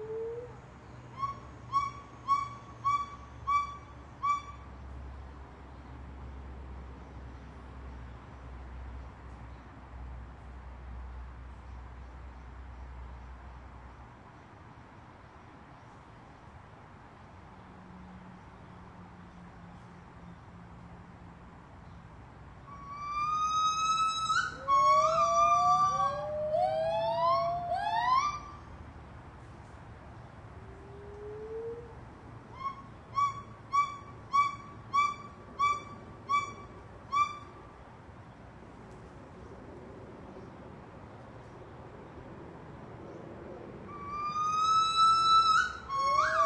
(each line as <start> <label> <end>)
0.0 White-cheeked Gibbons calling 4.6
22.7 White-cheeked Gibbons calling 28.7
30.8 White-cheeked Gibbons calling 37.7
44.0 White-cheeked Gibbons calling 46.4